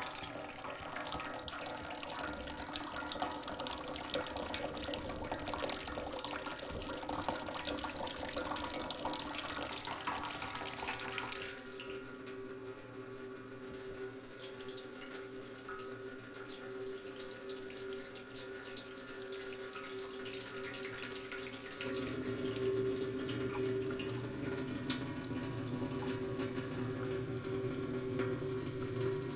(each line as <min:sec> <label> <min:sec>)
0:00.0 water stream into sink with metalic echo 0:29.3